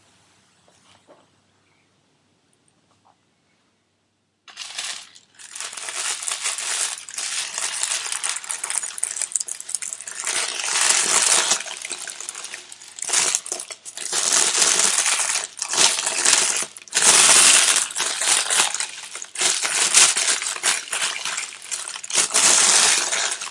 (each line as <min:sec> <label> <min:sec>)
0:04.5 wrapping paper 0:23.5